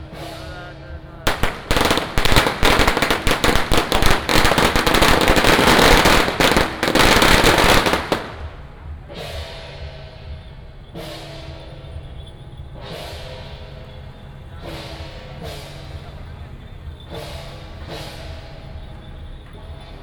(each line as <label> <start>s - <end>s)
firecrackers 0.0s - 12.2s
Fireworks 1.3s - 9.0s